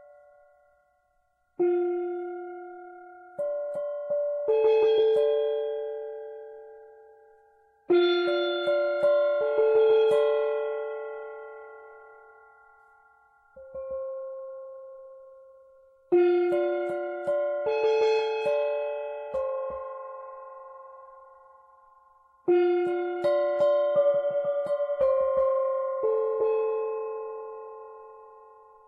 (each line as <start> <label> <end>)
0.0 Singing Bowl 28.8